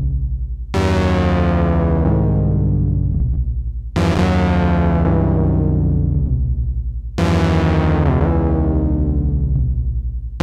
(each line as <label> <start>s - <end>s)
synthesizer 0.0s - 10.4s